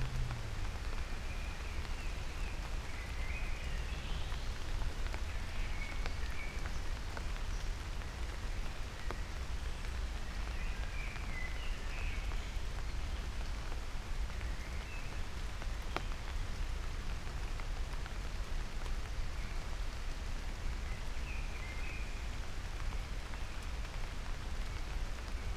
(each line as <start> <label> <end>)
0.0 raindrops 25.5